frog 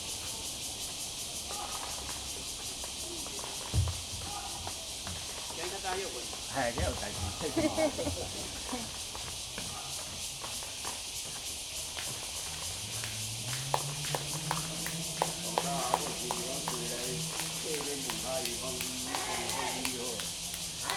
0:01.4 0:03.4

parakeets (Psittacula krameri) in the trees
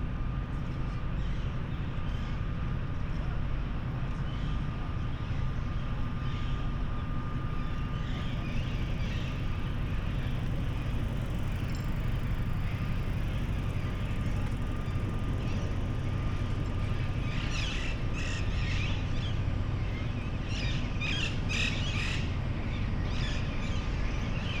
0:06.1 0:24.6

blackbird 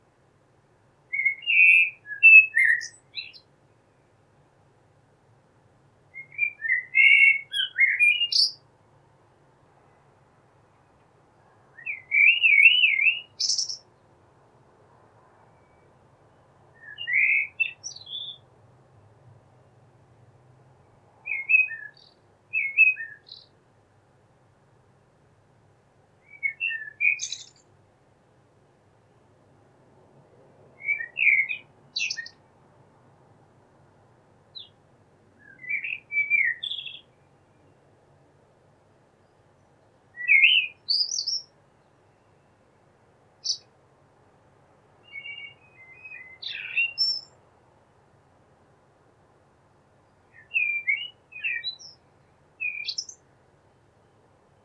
0:01.1 0:03.5, 0:06.2 0:08.6, 0:11.7 0:13.9, 0:16.8 0:18.5, 0:21.2 0:23.6, 0:26.2 0:27.7, 0:30.8 0:32.4, 0:34.5 0:34.8, 0:35.4 0:37.8, 0:40.2 0:42.4, 0:43.4 0:43.7, 0:45.0 0:47.4, 0:50.3 0:53.2

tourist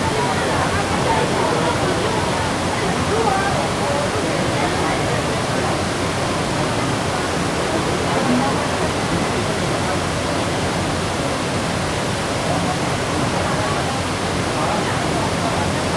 0:00.0 0:11.6

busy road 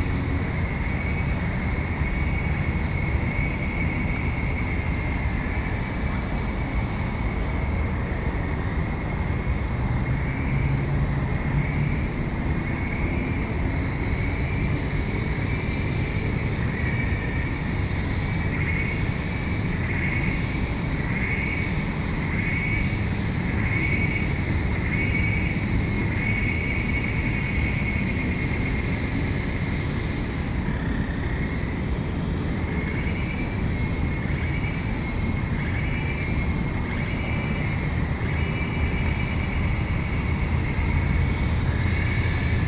0:36.3 0:42.6

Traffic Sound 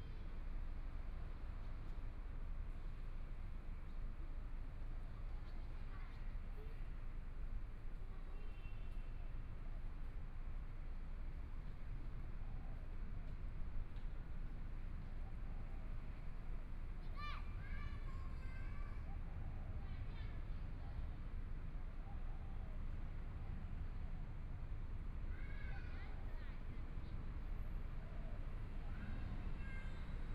0:22.7 0:30.3

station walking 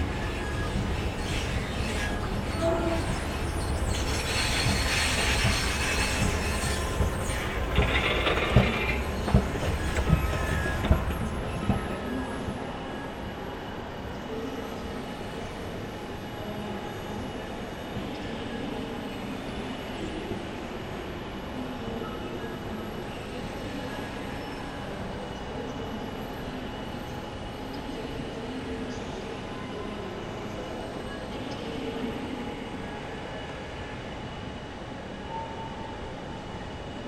0:00.0 0:12.0

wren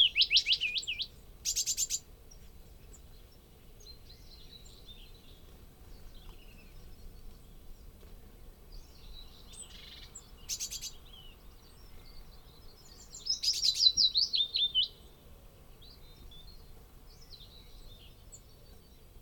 0:09.5 0:11.1

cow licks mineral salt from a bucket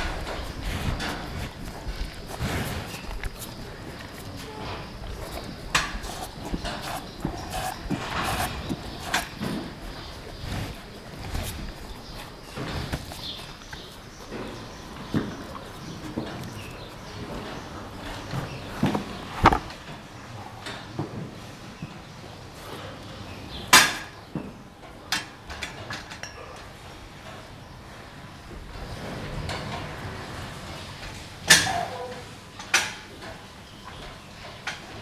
0:00.0 0:19.0

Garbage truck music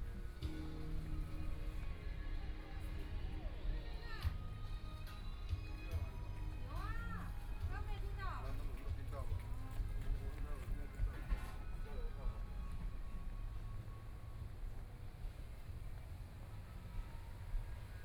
0:00.0 0:13.6

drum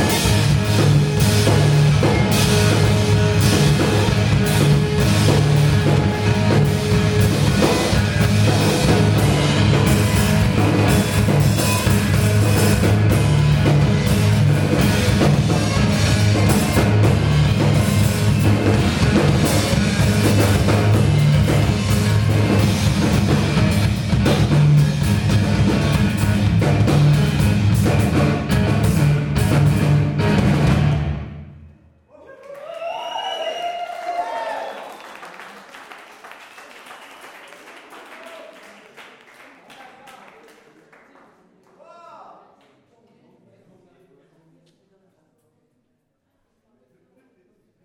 0:00.0 0:31.4

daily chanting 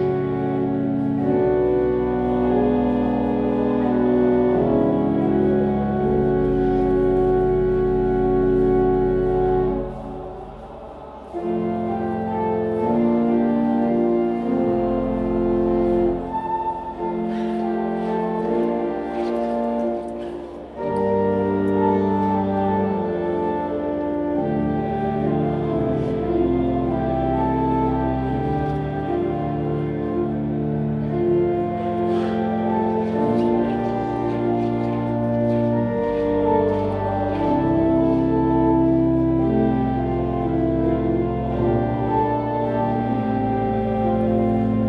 0:00.0 0:23.7

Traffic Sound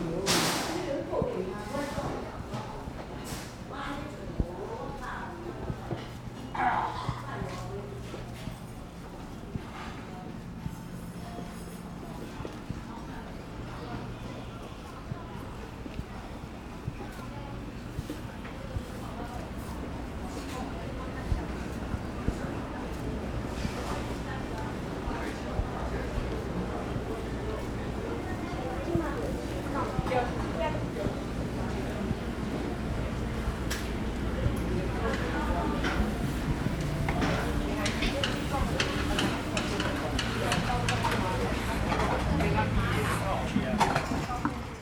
0:31.2 0:44.8

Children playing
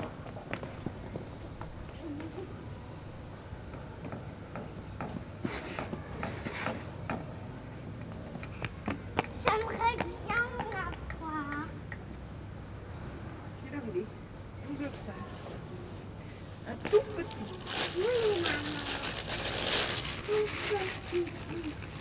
0:09.3 0:11.8

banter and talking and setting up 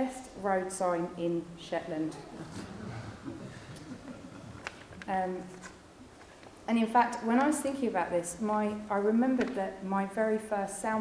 0:01.9 0:07.7

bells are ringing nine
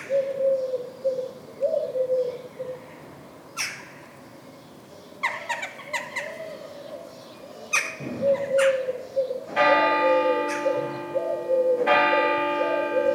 0:09.6 0:13.1

